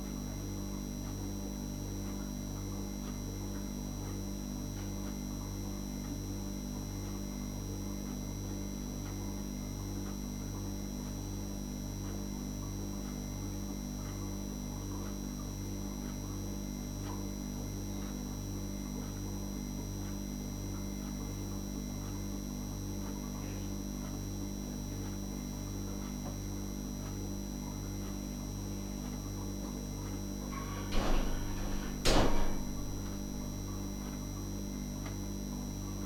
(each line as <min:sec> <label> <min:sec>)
0:30.4 fridge 0:34.3
0:30.5 clock sounds 0:34.2